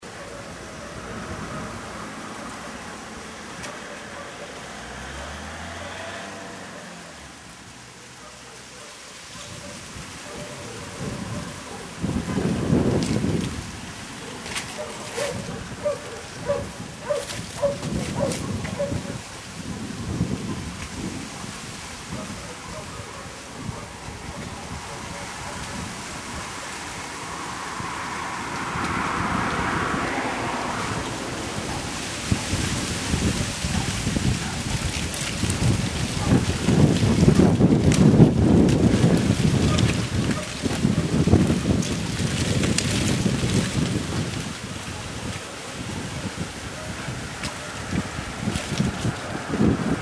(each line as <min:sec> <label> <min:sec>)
0:00.0 Warm south wind in the trees 0:50.0
0:00.0 leaves running through the streets 0:50.0